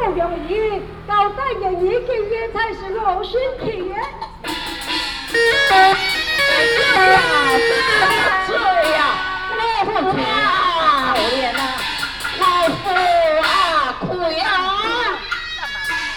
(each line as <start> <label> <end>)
4.2 Hakka Opera 16.1